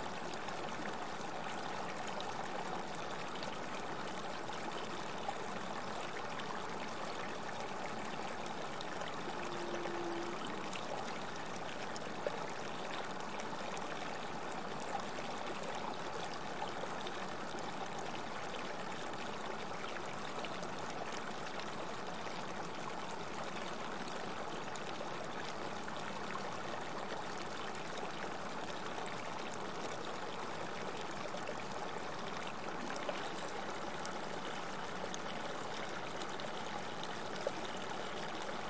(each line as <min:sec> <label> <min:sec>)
0:00.0 Small river 0:38.6